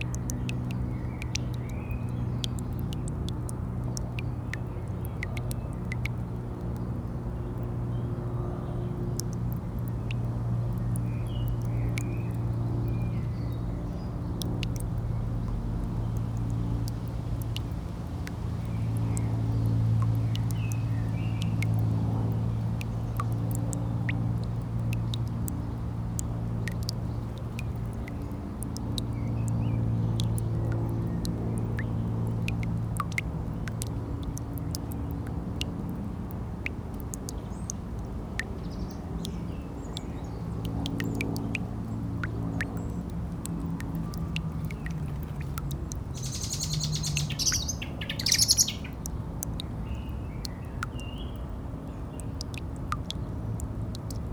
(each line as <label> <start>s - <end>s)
quietly dripping tap 0.0s - 54.3s